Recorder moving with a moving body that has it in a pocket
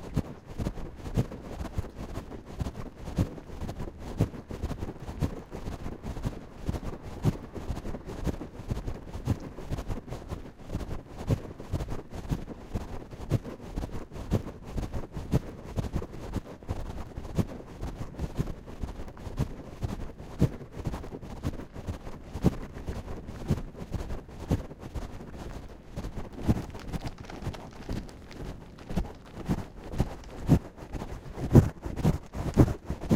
24.9 33.1

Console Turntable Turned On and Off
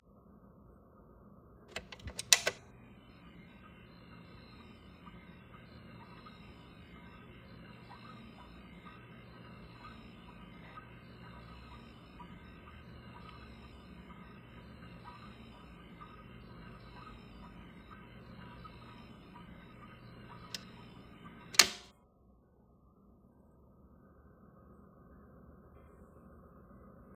1.7 21.9

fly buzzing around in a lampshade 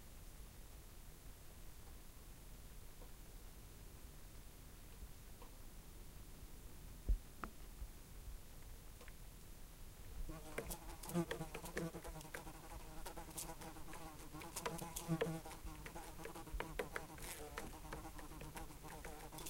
10.3 19.4

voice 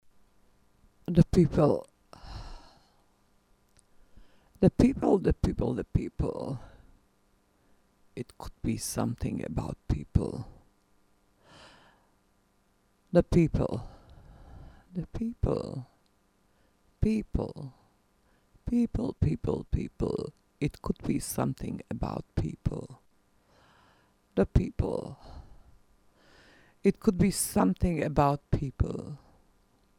1.1 1.9, 4.6 6.7, 8.2 10.6, 13.2 14.0, 15.0 15.9, 17.0 17.8, 18.7 23.0, 24.4 25.4, 26.9 29.2

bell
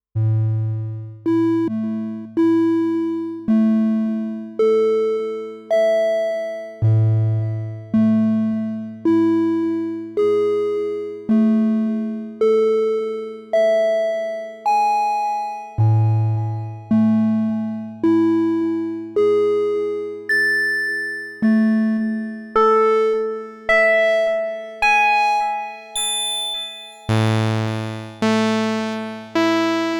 20.3 22.4, 25.7 28.4

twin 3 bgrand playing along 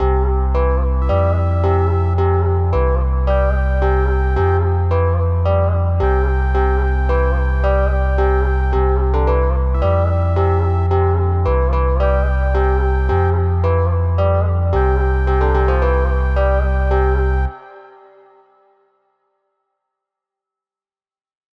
1.0 17.7

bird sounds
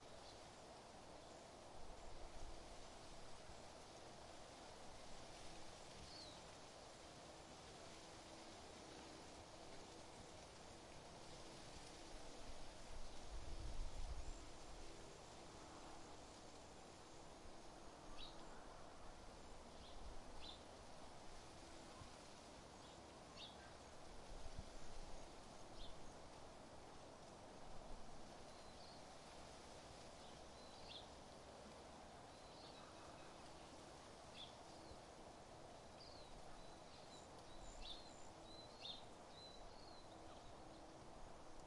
30.1 31.2, 32.2 35.2, 35.9 41.0

